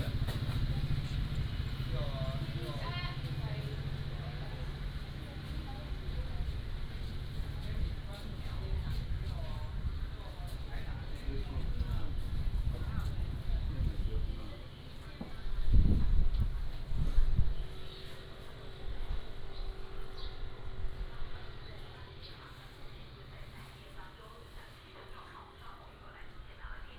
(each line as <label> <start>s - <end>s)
Walking in the alley 0.0s - 26.9s